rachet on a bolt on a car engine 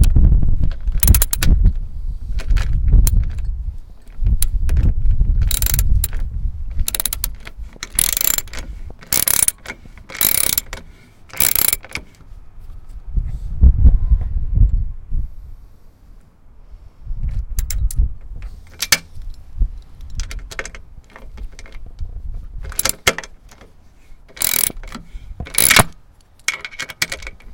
0.9 1.6, 5.4 12.3, 17.6 19.2, 20.0 21.9, 22.6 27.5

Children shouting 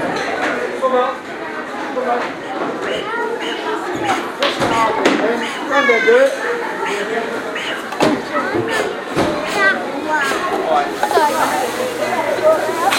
2.8 12.9

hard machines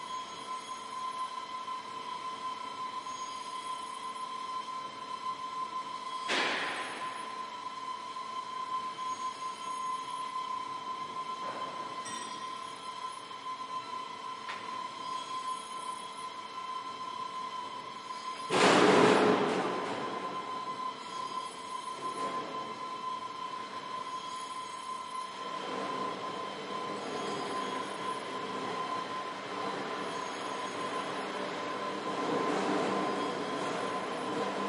14.5 34.6

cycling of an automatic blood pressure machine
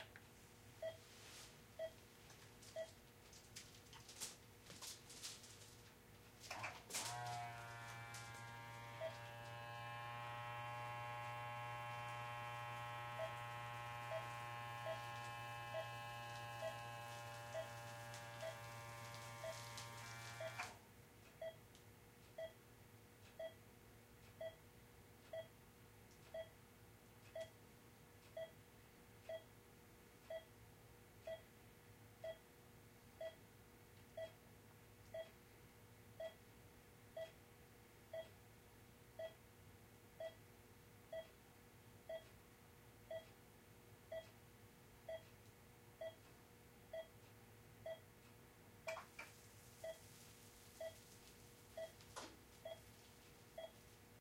6.5 20.8

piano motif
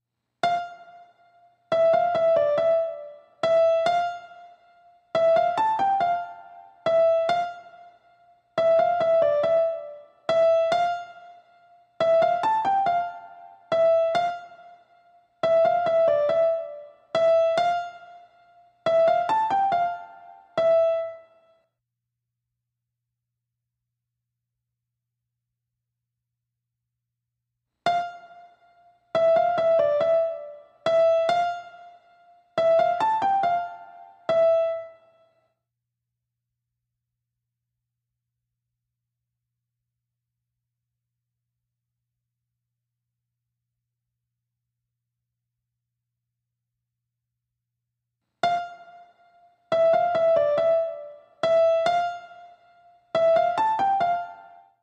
0.4 8.0, 8.6 21.5, 27.9 35.3, 48.4 54.8

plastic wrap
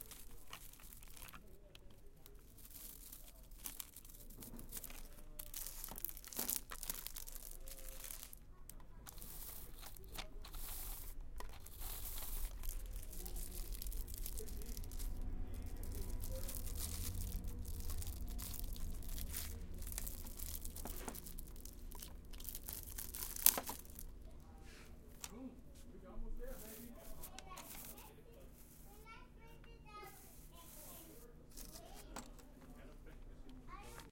0.0 24.7

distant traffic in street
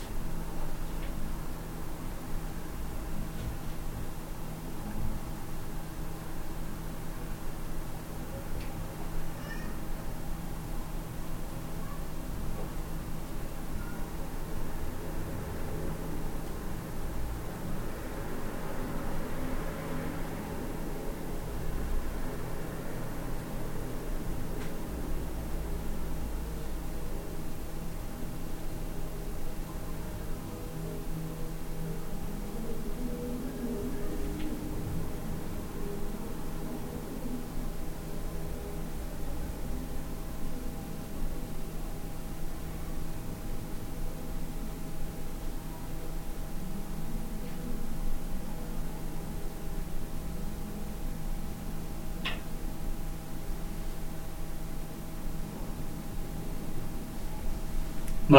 13.6 41.2

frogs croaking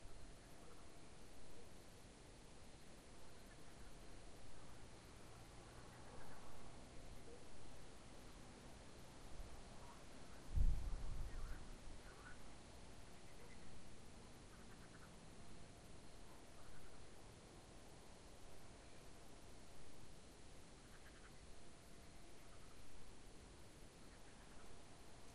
14.4 15.2, 20.8 21.4

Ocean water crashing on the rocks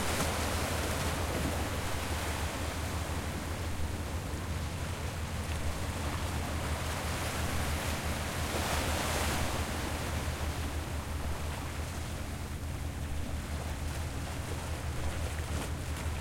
6.6 11.6

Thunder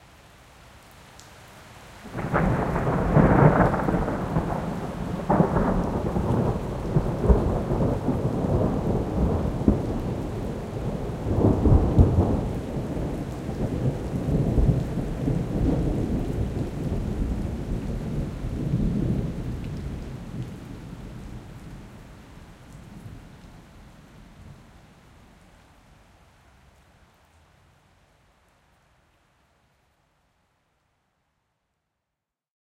2.1 20.7

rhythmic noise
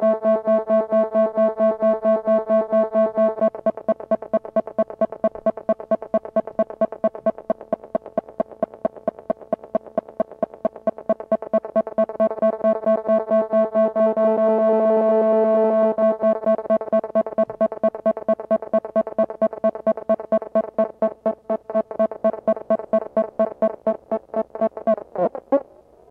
3.4 14.2, 16.0 25.2

